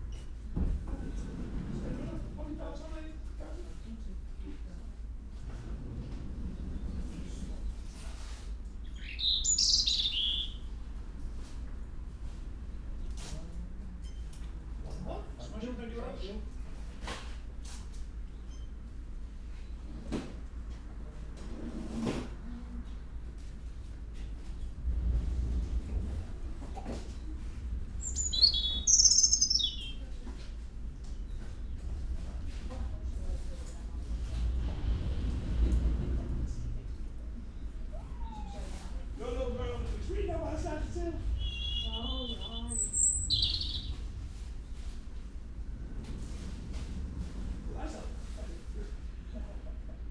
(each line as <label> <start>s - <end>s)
voices 0.6s - 11.9s
resident robin singing 8.8s - 10.7s
voices 12.5s - 17.9s
voices 19.9s - 50.1s
resident robin singing 27.9s - 30.1s
resident robin singing 41.4s - 44.0s